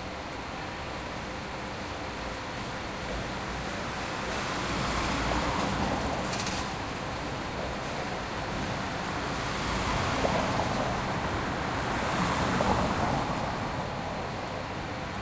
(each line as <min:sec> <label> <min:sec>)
0:04.2 passing cars 0:15.2